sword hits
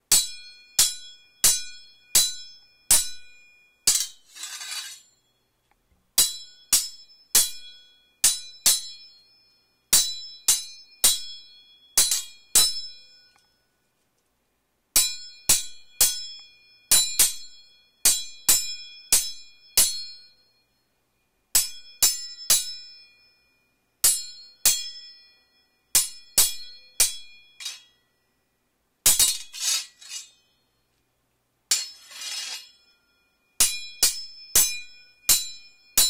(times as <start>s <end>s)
3.9s 5.1s, 26.0s 27.9s, 29.1s 30.5s, 31.7s 32.8s